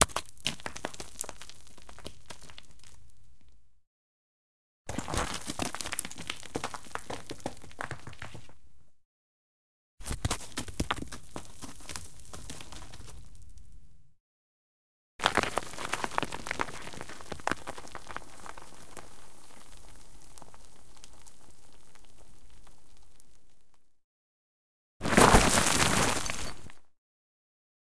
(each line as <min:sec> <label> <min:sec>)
0:00.0 Stones movements 0:03.1
0:04.9 Stones movements 0:08.6
0:15.2 Stones movements 0:23.8
0:25.0 Stones movements 0:26.8